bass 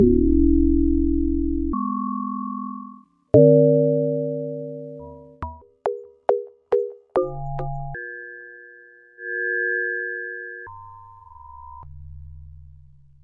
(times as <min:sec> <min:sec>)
0:00.0 0:02.0, 0:07.2 0:08.0, 0:11.2 0:13.2